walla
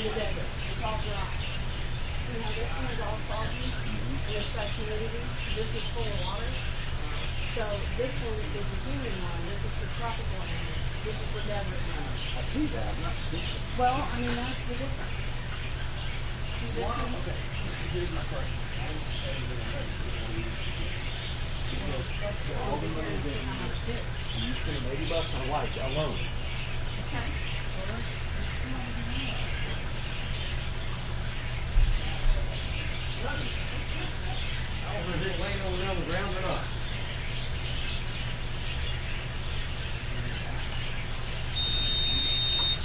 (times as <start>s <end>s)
0.0s 15.6s